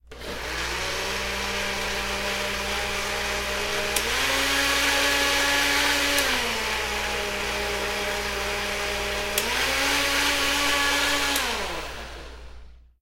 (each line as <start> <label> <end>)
0.0 blender 12.8